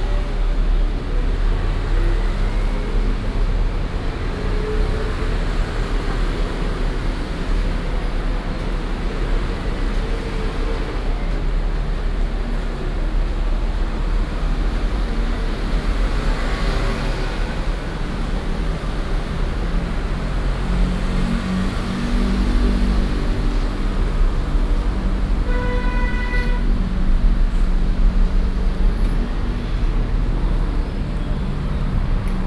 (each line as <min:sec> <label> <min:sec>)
0:00.0 Traffic Sound 0:32.4